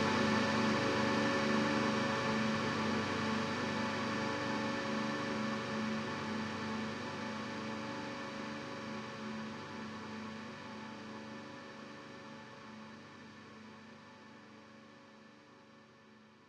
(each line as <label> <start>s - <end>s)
bass 0.0s - 14.6s